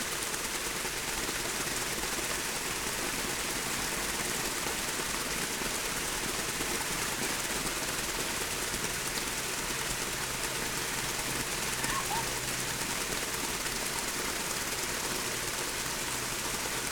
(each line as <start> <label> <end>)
7.5 water sculpture 16.9